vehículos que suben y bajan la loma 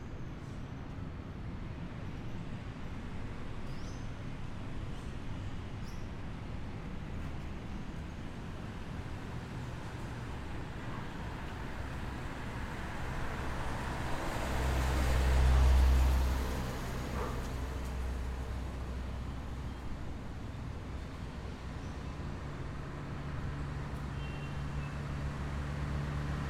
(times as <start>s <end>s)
9.0s 26.4s